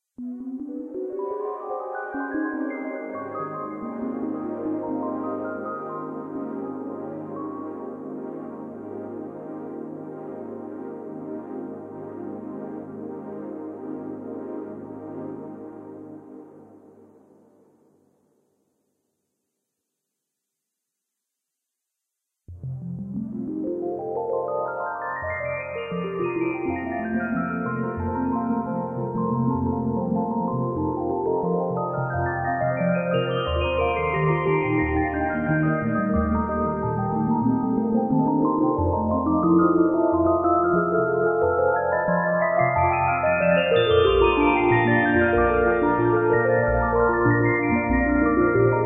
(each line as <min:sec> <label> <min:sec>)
0:25.2 synth 0:48.8